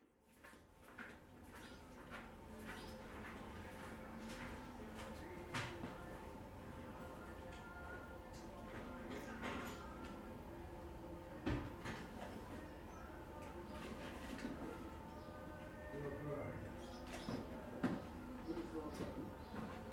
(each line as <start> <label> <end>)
17.7 talk 19.7